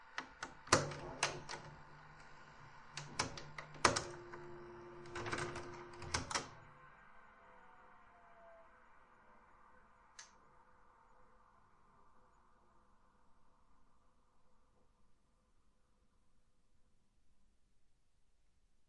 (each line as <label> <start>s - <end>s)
Panasonic NV-J30HQ VCR 0.0s - 7.7s